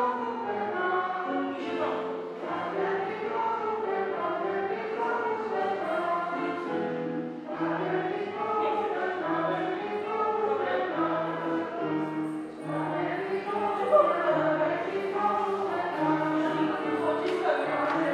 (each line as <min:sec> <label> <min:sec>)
0:00.0 singing 0:18.1